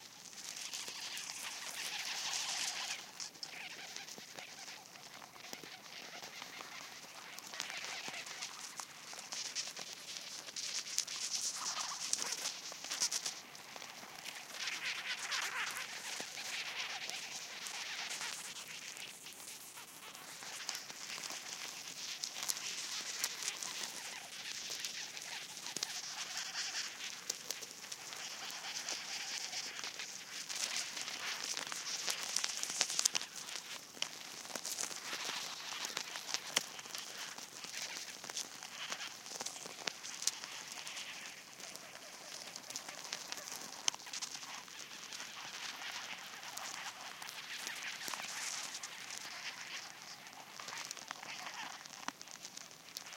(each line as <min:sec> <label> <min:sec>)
0:00.0 ants eating 0:53.1